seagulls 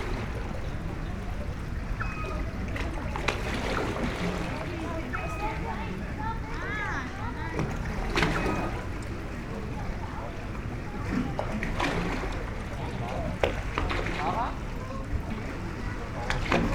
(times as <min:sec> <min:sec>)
0:02.0 0:02.7